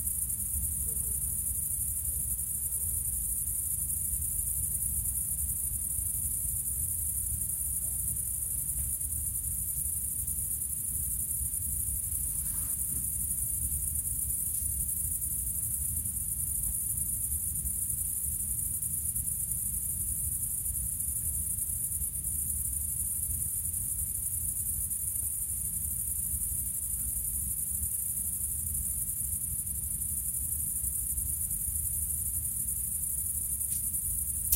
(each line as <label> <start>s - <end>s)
cricket 0.0s - 34.5s